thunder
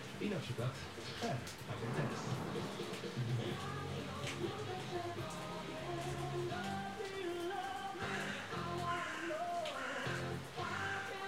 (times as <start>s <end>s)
1.7s 3.6s